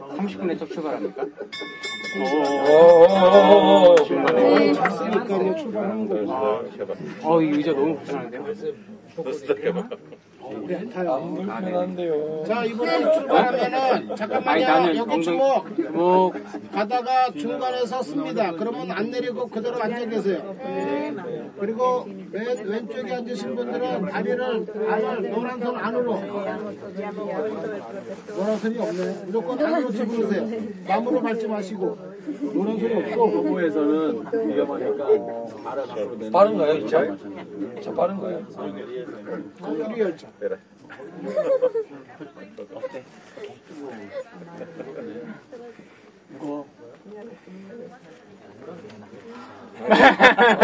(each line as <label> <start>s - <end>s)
tourists 0.0s - 50.6s